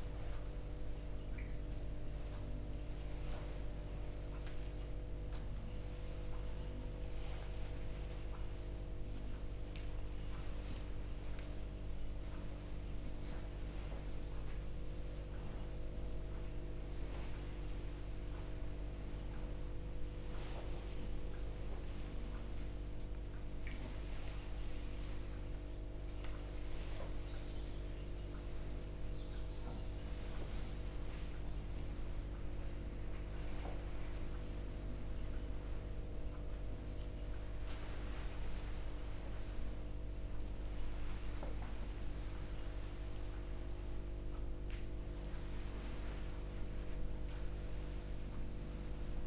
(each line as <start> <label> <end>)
0.0 buzz of four electric heaters overhead 49.2
0.0 walking meditation 49.2
1.7 rustling of clothing 29.1
26.2 birds 31.9
29.8 rustling of clothing 49.2